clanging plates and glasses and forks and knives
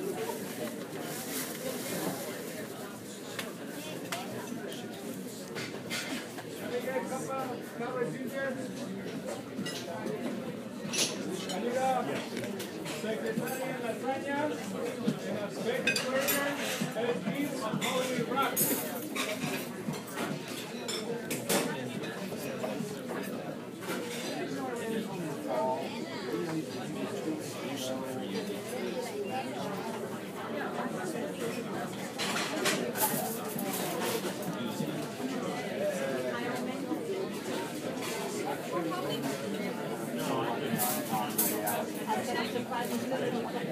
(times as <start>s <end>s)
5.5s 6.4s, 10.8s 13.7s, 15.8s 24.6s, 31.4s 34.8s, 40.2s 42.3s